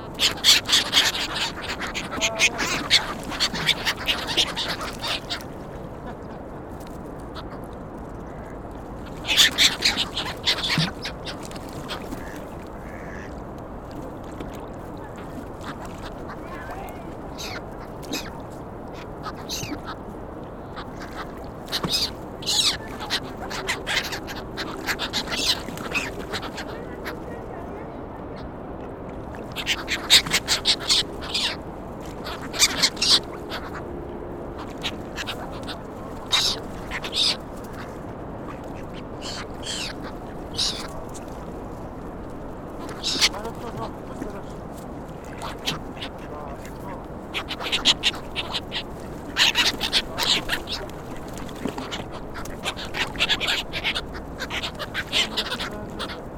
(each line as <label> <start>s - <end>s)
duck 0.0s - 6.4s
gull 0.0s - 6.5s
traffic in the background 0.0s - 56.3s
water 0.0s - 56.3s
gull 7.2s - 13.4s
duck 8.2s - 13.4s
gull 14.3s - 20.0s
duck 14.4s - 20.0s
walker speaks 16.4s - 17.2s
gull 20.6s - 27.6s
duck 20.7s - 27.5s
walker speaks 26.7s - 28.2s
gull 29.4s - 33.9s
duck 29.5s - 33.9s
gull 34.5s - 41.9s
duck 34.6s - 41.1s
gull 42.7s - 56.3s
duck 42.8s - 44.6s
duck 45.2s - 56.3s